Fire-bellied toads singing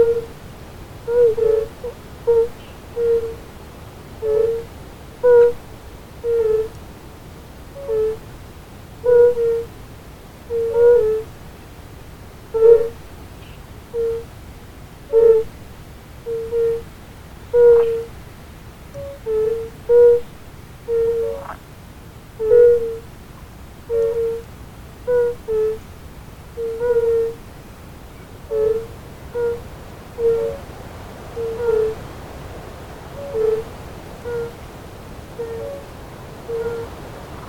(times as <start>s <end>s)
17.6s 18.2s, 19.0s 21.6s, 28.5s 30.7s, 33.2s 34.6s, 35.4s 35.9s, 36.5s 37.4s